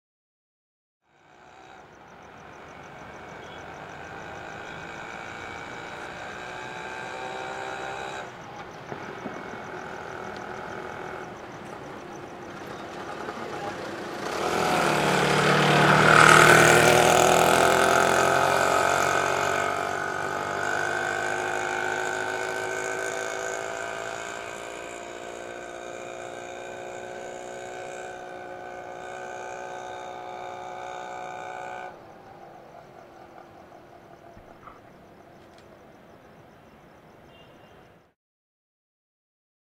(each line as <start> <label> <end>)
1.0 Auto Rickshaw - Pass By 38.2